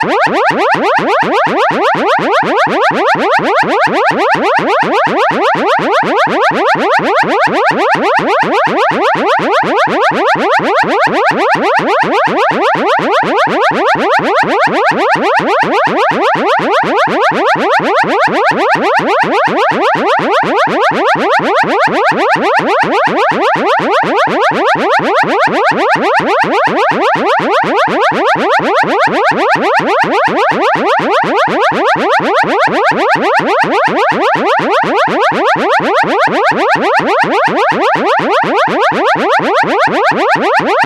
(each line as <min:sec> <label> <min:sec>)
0:00.0 Cartoon-like siren 0:40.8